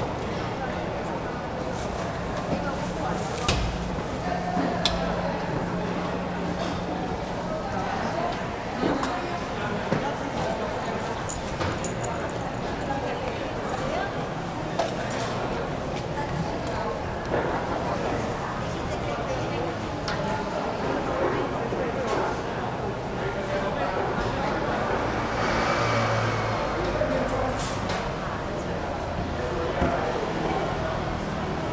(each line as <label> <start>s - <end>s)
Walking in the traditional market 0.0s - 31.7s
Traffic Sound 23.9s - 31.7s